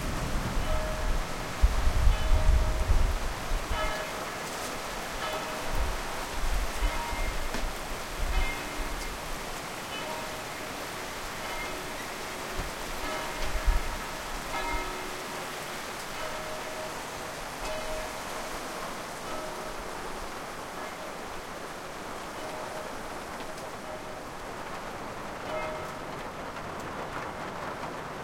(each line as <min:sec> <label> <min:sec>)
0:00.0 bells 0:26.5
0:00.0 rain 0:28.2